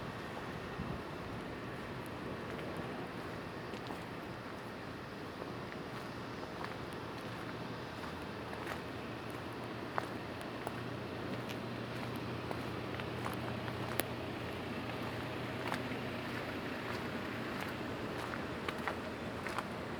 0.0s wind 19.9s

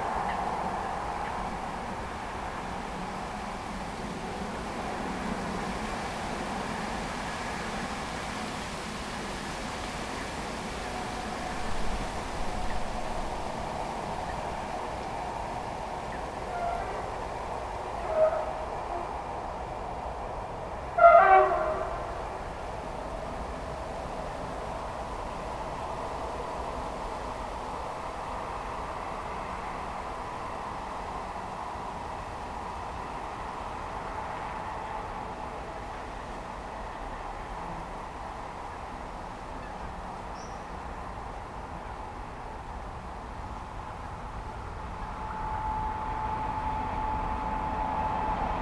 0.0s Trains en courbe 48.6s

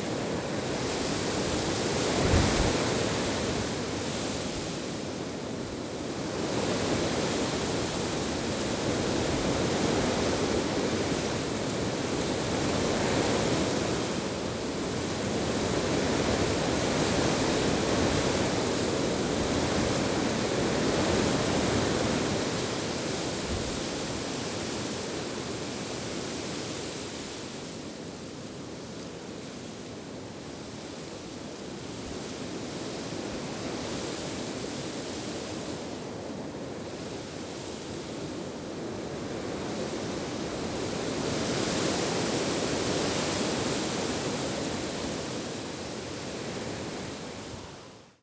0.0s Strong wind in dry oak leaves 28.0s

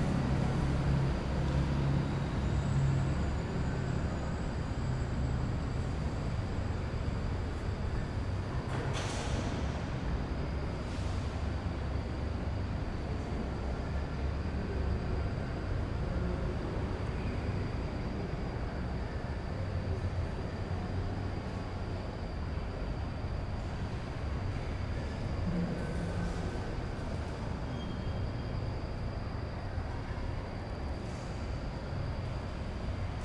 0.0s bus 33.2s

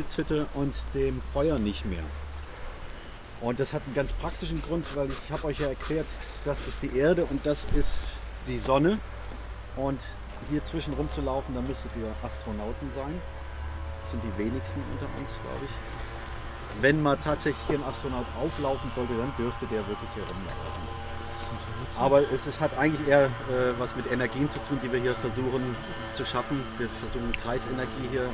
3.4s preparation talk 9.1s
16.7s preparation talk 28.3s

